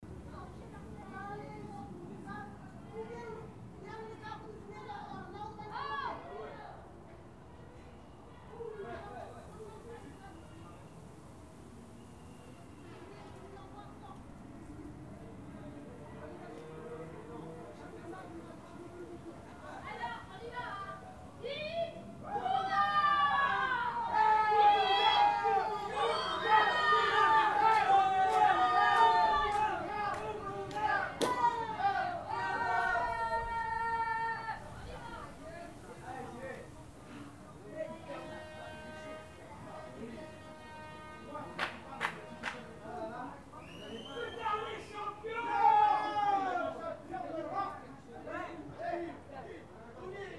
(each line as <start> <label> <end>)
19.4 Portuguese family celebrates 49.3